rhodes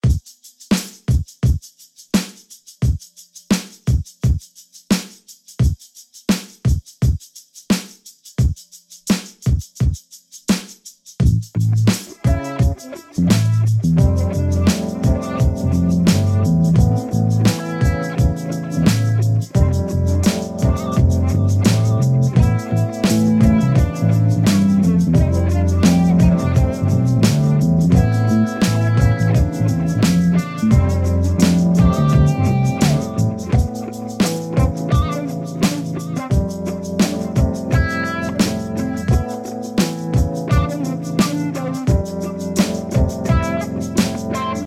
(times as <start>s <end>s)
11.3s 44.6s